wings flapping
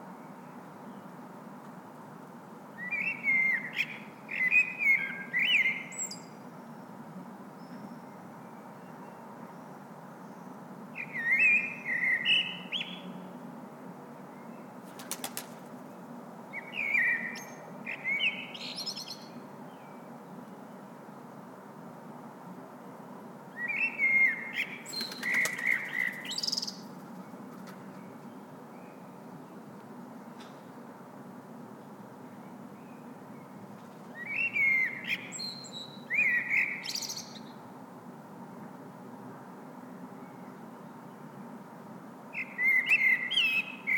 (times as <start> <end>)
14.8 15.9, 24.9 26.3, 27.0 27.9